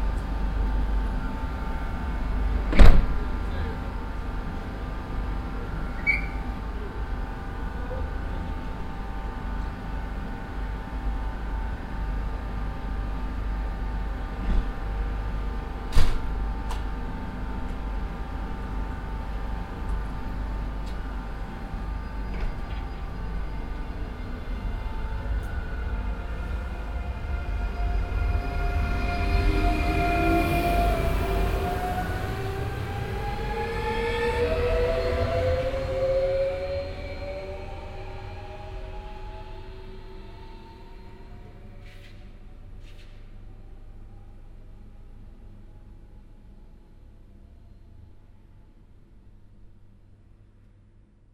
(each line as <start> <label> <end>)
0.0 the train leaves 48.6
0.0 train drives into the station 51.3
6.0 whistle 6.4